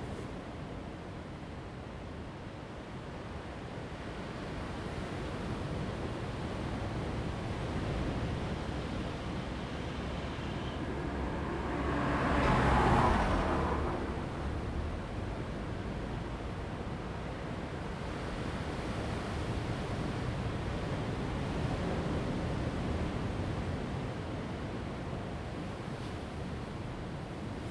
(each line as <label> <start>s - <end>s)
Traffic Sound 0.0s - 0.4s
waves 4.6s - 27.7s
Traffic Sound 7.2s - 17.6s